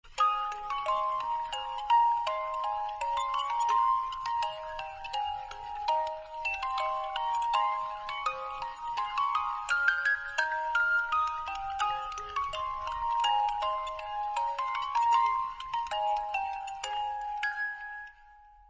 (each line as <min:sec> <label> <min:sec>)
0:00.0 Musicbox 0:18.6